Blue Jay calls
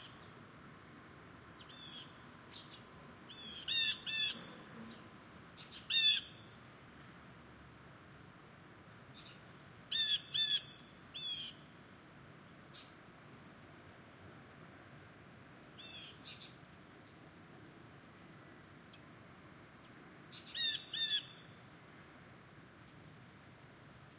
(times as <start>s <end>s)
3.3s 4.5s, 5.7s 6.4s, 9.9s 11.6s, 15.8s 16.5s, 20.3s 21.4s